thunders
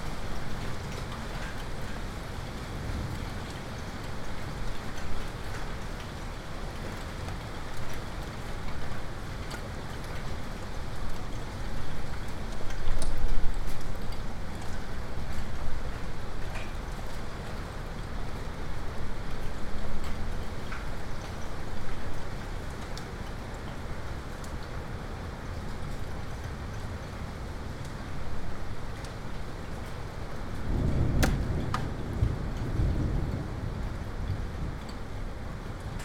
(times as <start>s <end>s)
30.7s 34.9s